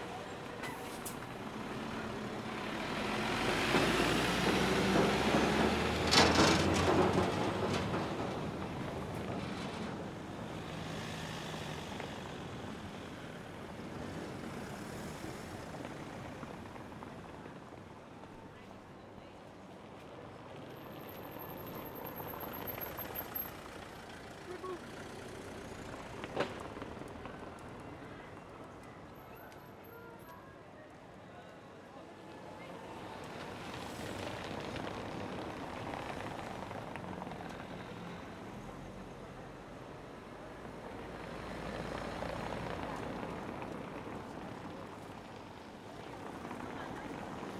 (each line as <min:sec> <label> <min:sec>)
0:00.0 traffic passing over cobble-stone paving 0:47.5